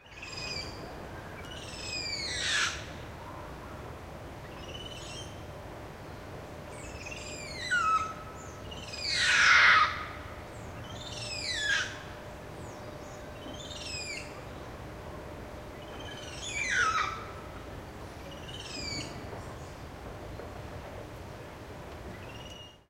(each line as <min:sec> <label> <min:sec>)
0:08.9 Black Spider Monkey chattering and screaming 0:10.0
0:16.4 Black Spider Monkey chattering and screaming 0:17.3